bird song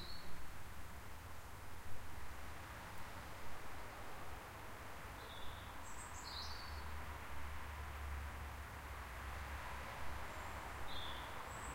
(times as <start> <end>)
0.0 0.4, 5.2 6.9, 10.3 11.7